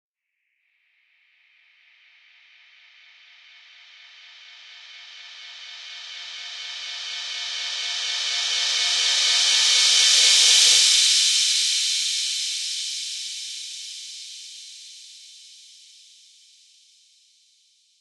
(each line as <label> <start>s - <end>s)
Reverse Cymbal 2.1s - 16.9s